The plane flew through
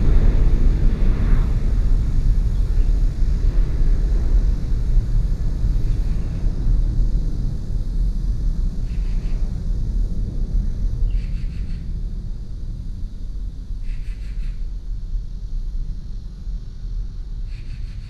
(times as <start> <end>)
0.0 14.0